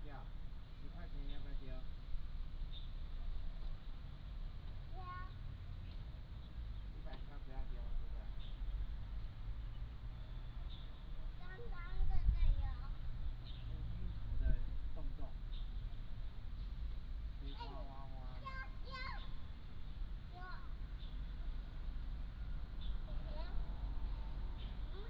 Birds singing 0.0 - 25.0

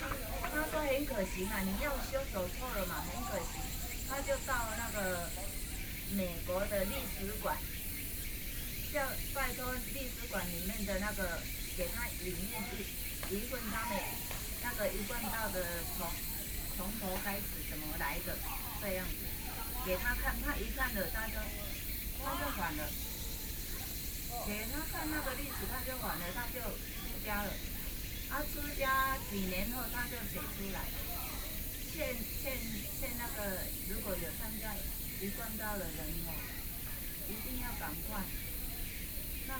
people playing badminton 0.0 - 6.0
Birds 0.0 - 39.5
Two women are sharing religion 0.0 - 39.5
people playing badminton 12.0 - 33.9

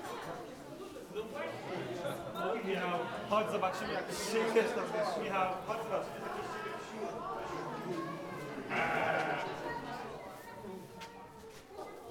visitors walk and talk 0.0 - 12.1
goats 8.6 - 10.0
rabbits 8.7 - 9.7

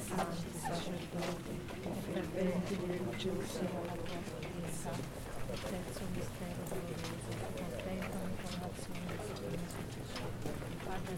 men walk 0.0 - 11.1

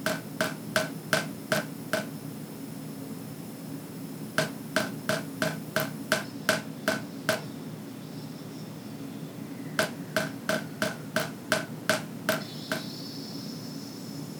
tap dripping into the kitchen sink 0.1 - 2.1
tap dripping into the kitchen sink 4.4 - 7.5
tap dripping into the kitchen sink 9.8 - 12.9

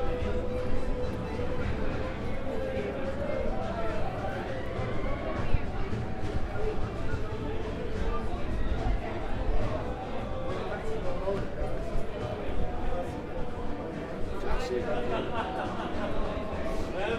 people walked by 0.0 - 17.1

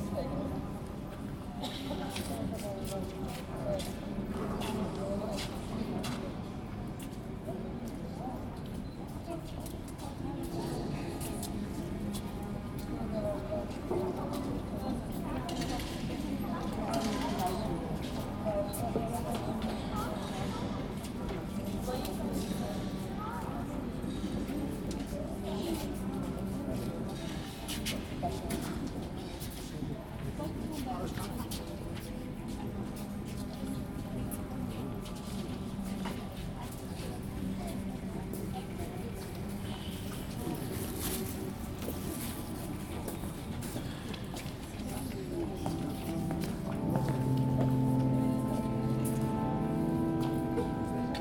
whispers of visitors 0.0 - 51.2
steps 40.4 - 51.2

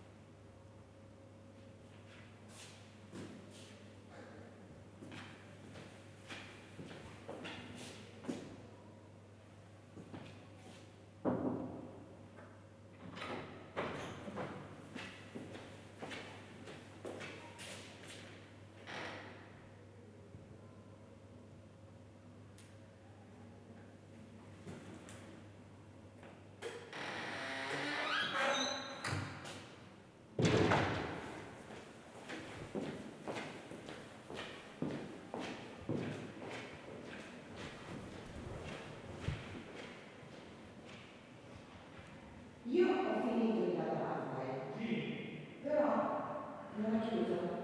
her voice echoing down the marble corridor 42.6 - 47.6

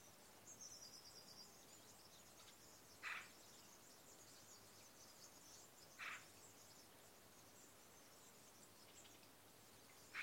Birds 0.0 - 10.2

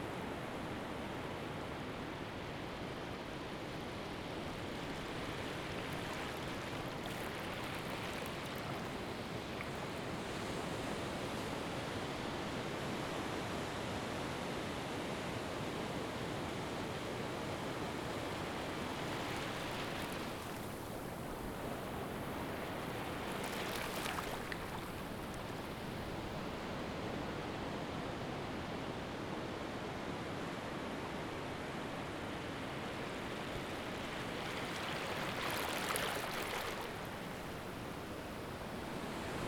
waves were coming from different directions 1.6 - 12.6
knee-deep water 4.5 - 10.3
waves were coming from different directions 17.4 - 27.0
waves were coming from different directions 30.5 - 39.4

